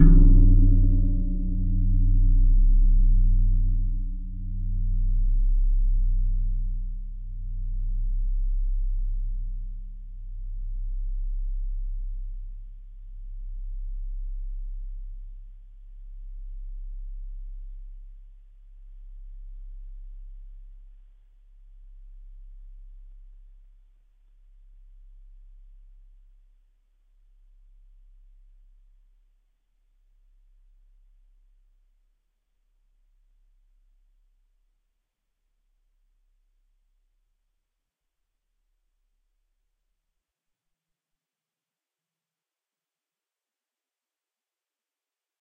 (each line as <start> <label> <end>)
0.0 Gong 8.6